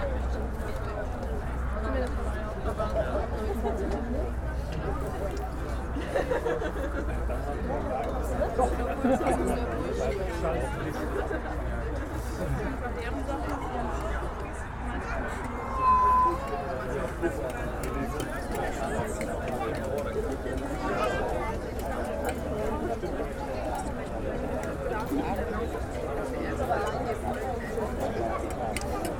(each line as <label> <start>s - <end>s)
people eating 0.0s - 29.1s